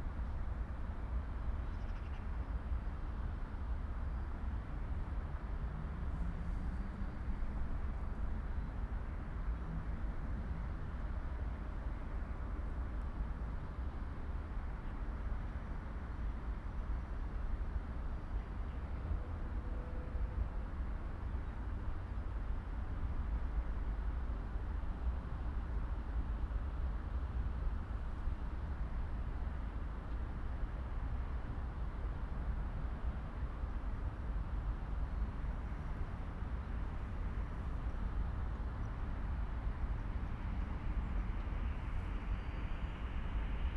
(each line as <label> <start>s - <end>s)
Passing train 18.6s - 25.1s
Passing train 28.0s - 43.7s